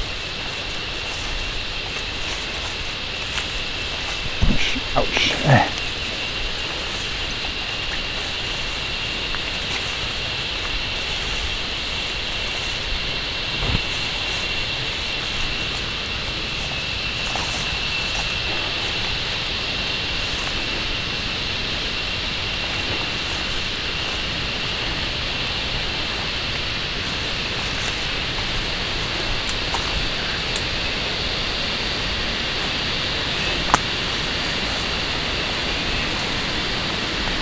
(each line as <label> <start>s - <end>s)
trecking in the woods 0.0s - 37.4s
Killer cicadas, immensely shrieking 0.0s - 4.2s
Killer cicadas, immensely shrieking 15.6s - 37.4s